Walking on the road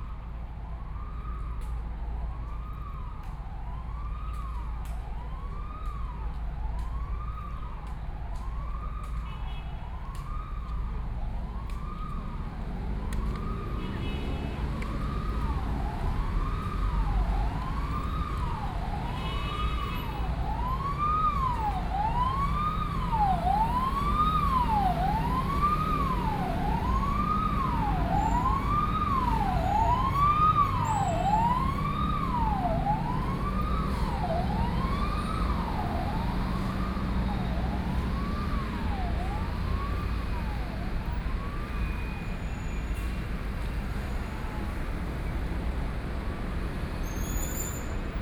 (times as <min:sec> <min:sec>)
0:04.2 0:42.0